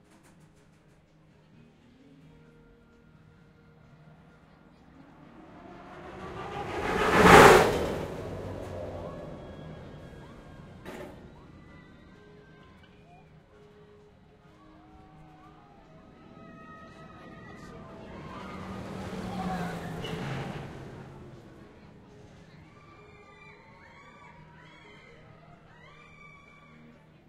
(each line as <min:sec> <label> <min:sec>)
0:04.4 roller coaster launch 0:12.2
0:15.2 roller coaster launch 0:24.8